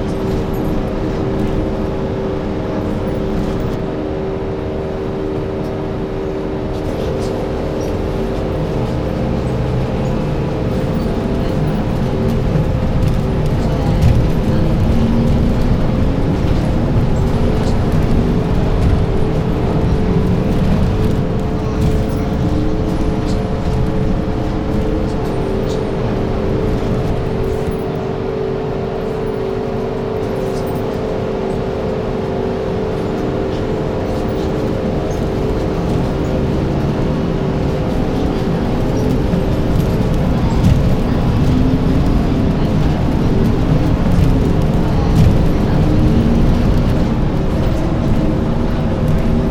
Bus journey 0.0 - 49.5

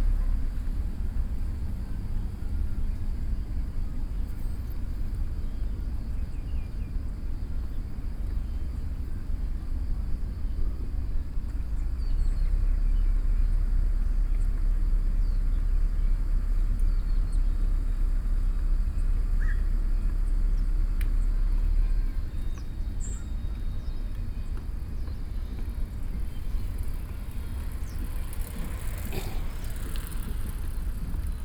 Bicycle 0.0 - 31.4

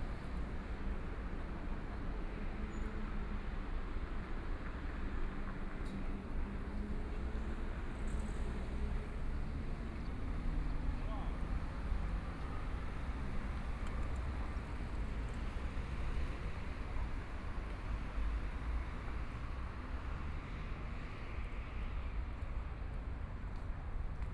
Traffic Sound 6.1 - 24.3

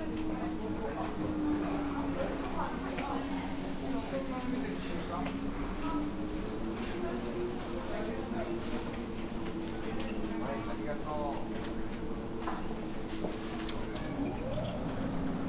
many people around waiting in lines 0.0 - 15.4

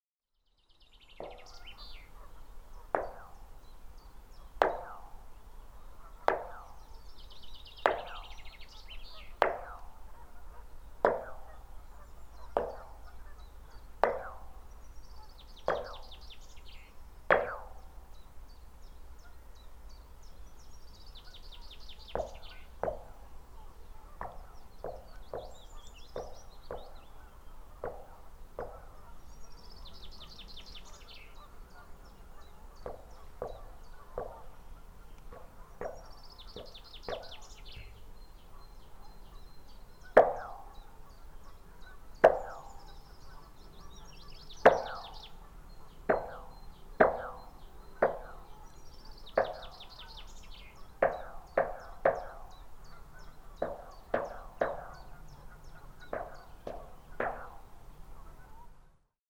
sculpture, made of iron, lightly hit with my knuckle 1.2 - 2.2
sculpture, made of iron, lightly hit with my knuckle 2.9 - 5.4
sculpture, made of iron, lightly hit with my knuckle 6.2 - 14.8
sculpture, made of iron, lightly hit with my knuckle 15.4 - 18.0
sculpture, made of iron, lightly hit with my knuckle 21.1 - 29.1
sculpture, made of iron, lightly hit with my knuckle 32.1 - 38.0
sculpture, made of iron, lightly hit with my knuckle 40.1 - 40.9
sculpture, made of iron, lightly hit with my knuckle 42.2 - 43.1
sculpture, made of iron, lightly hit with my knuckle 44.4 - 45.4
sculpture, made of iron, lightly hit with my knuckle 46.0 - 57.8

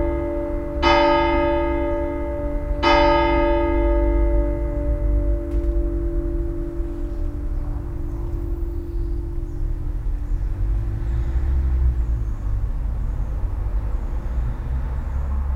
bells ringing ten 0.0 - 10.4

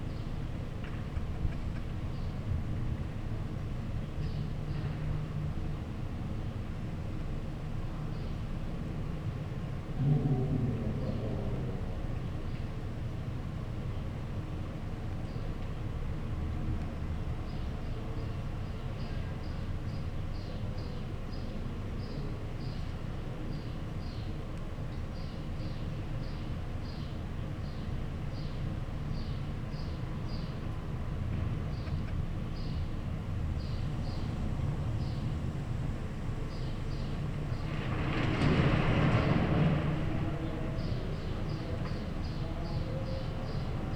wind 0.0 - 43.9

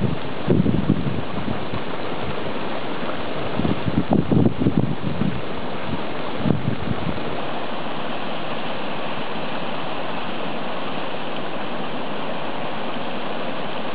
hot water bubbling 0.0 - 13.9
steam coming from the earth 0.0 - 13.9

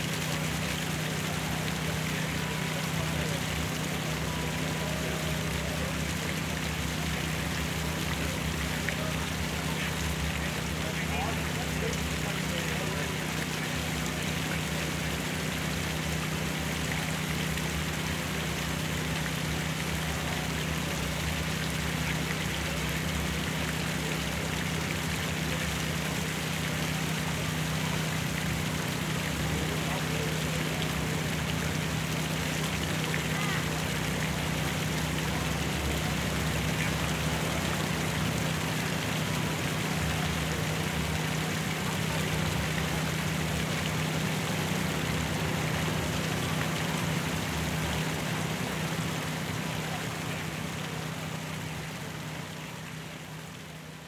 water 0.0 - 54.0

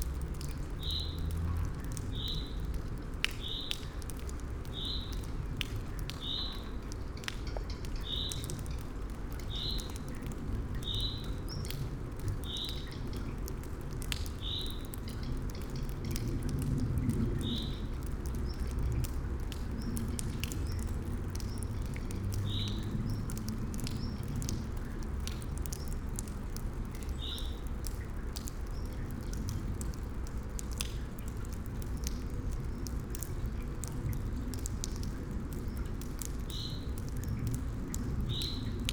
rain 0.0 - 38.9

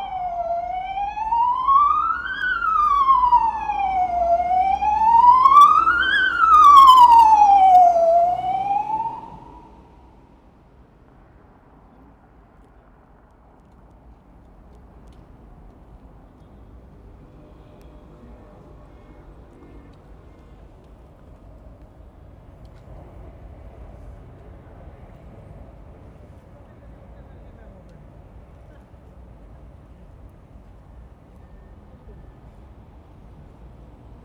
2 train 0.0 - 1.1
close siren (ambulance) passes by 0.0 - 10.3
2 train 13.3 - 34.2

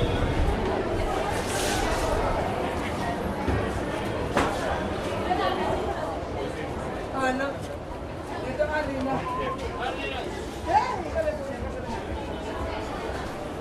waiting and lingering people 0.0 - 13.6

